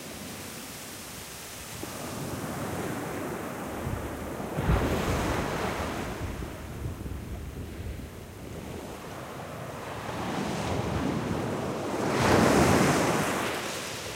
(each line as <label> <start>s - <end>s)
waves breaking 0.0s - 7.0s
wind 0.0s - 14.1s